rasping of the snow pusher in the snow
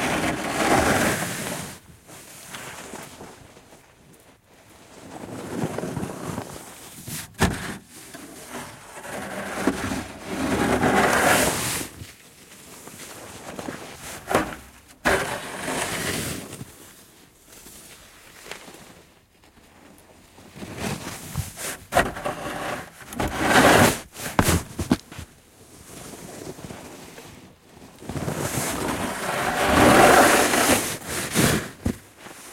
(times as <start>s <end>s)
0.0s 3.0s, 5.0s 12.0s, 13.4s 16.6s, 20.6s 25.0s, 28.1s 32.5s